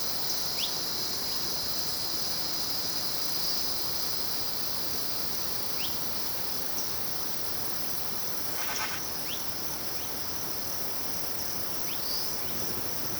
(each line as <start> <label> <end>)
0.0 insects 13.1
8.4 river far away in background 9.6
8.5 birds 9.4